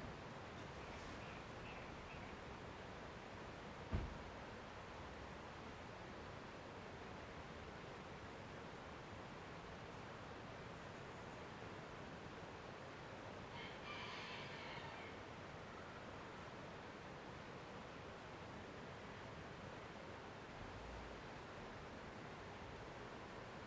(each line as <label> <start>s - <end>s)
River flow 0.0s - 13.6s
rooster crowing 13.5s - 15.2s
River flow 14.9s - 23.6s